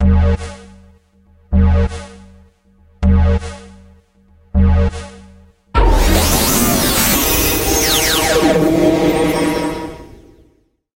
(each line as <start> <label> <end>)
5.8 glitch 10.6
5.8 woosh 10.6
5.8 rise 10.6
5.8 drone 10.6